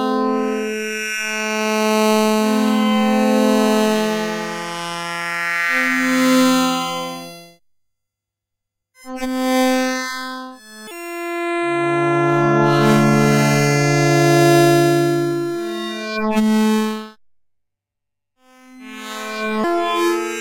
4 voice chords 11.4 - 16.1

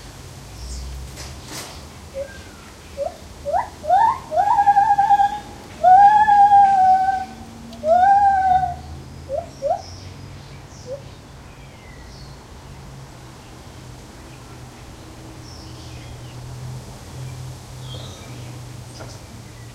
birds in the background 0.0 - 19.7
traffic 0.0 - 19.7
wind 0.0 - 19.7
single Lar Gibbon calling 2.1 - 9.9

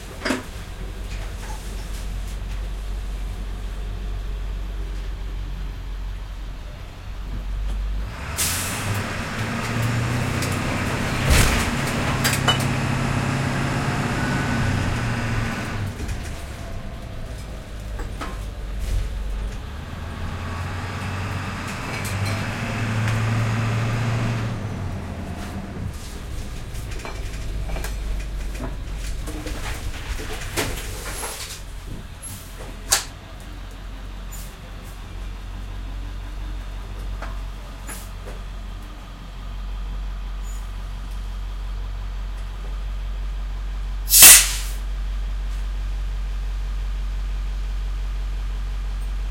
school bus truck int start 8.2 - 29.1
stop air release 44.1 - 44.8

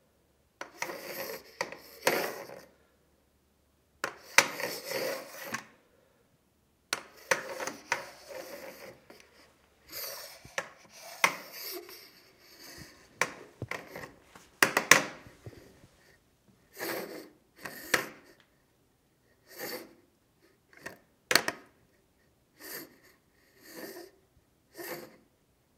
Aluminum walker sliding on tile 0.6 - 2.6
Aluminum walker sliding on tile 4.0 - 5.7
Aluminum walker sliding on tile 7.0 - 16.1

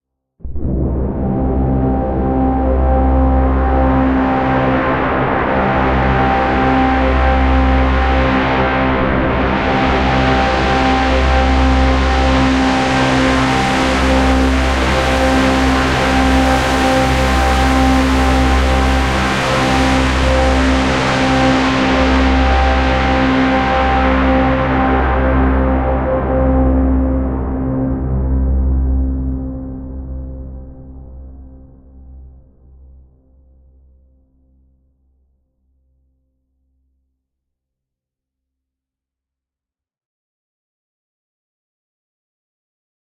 Heavily distorted monster drone 0.5 - 31.3

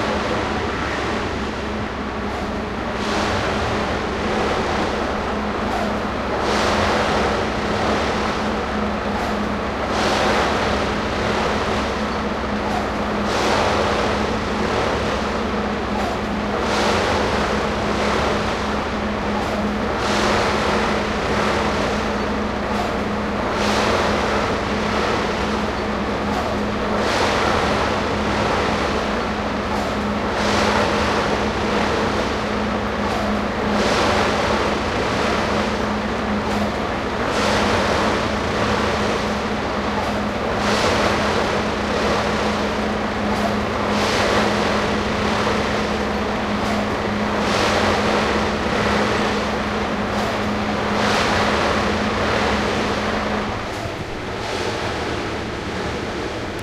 construction side train track bed 0.0 - 56.6

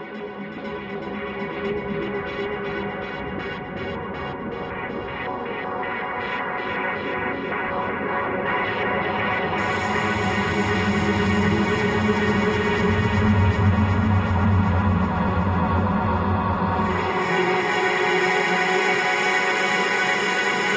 Drone 9.6 - 20.7

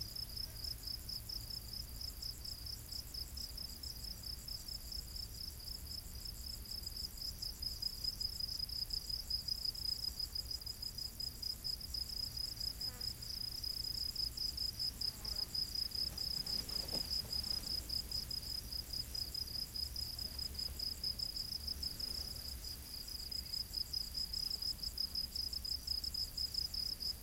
crickets 0.0 - 27.2

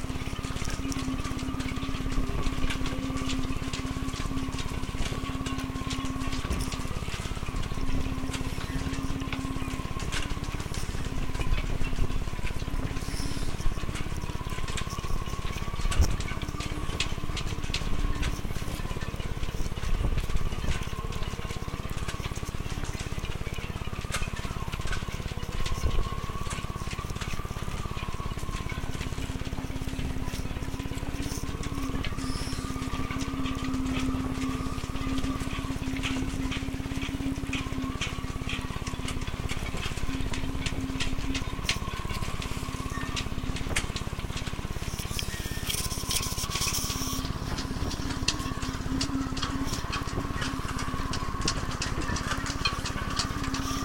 Yachts in the wind 0.0 - 53.8
wind 0.0 - 53.8

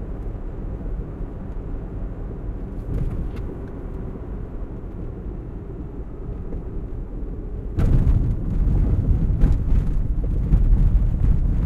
car engine 2.5 - 11.5
thumping sounds 2.8 - 3.5

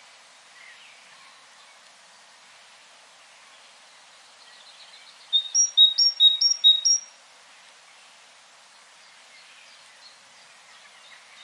Great Tit twittering its song 4.6 - 7.1

